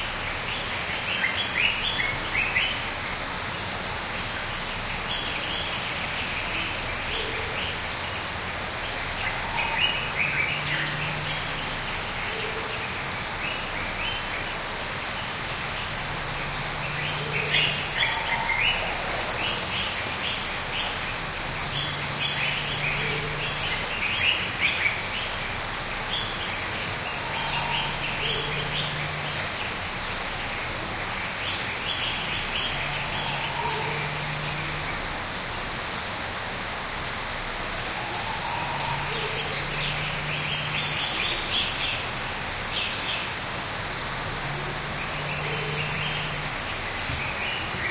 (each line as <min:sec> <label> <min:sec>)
0:00.0 waterfall 0:47.9
0:08.8 Blue-gray Tanager 0:35.3
0:15.2 Golden-breasted Starling 0:35.2
0:37.2 Blue-gray Tanager 0:47.9
0:37.8 Golden-breasted Starling 0:47.9